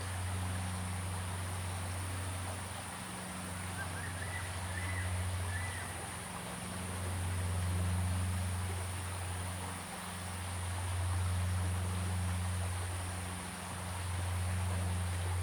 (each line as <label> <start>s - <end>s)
Stream 0.0s - 15.4s